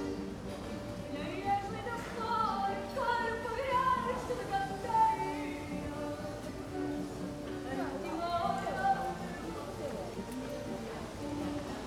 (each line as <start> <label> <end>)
1.1 a lady and the owner of the place sing 9.5